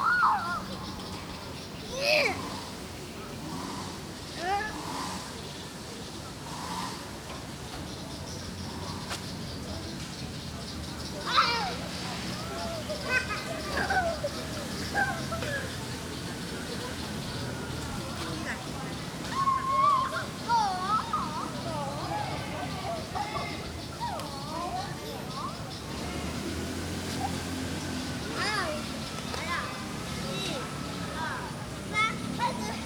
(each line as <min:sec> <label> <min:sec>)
0:01.8 Child 0:02.6
0:11.2 Child 0:11.9
0:19.2 Child 0:25.6
0:28.3 Child 0:32.8